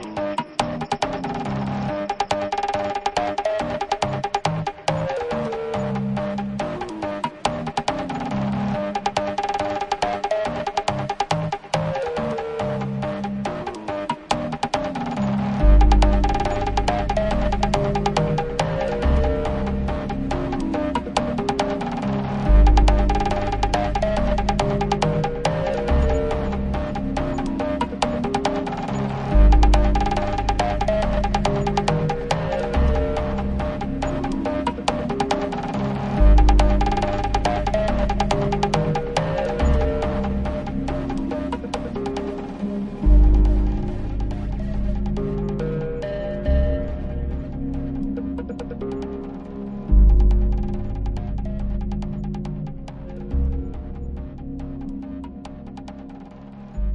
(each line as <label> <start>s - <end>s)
Bass 0.0s - 56.9s
Drums 0.0s - 56.9s
Piano 0.0s - 56.9s